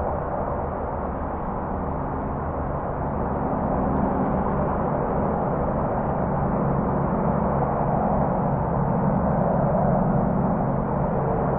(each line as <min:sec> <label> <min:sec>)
0:00.0 airplane pass overhead 0:11.5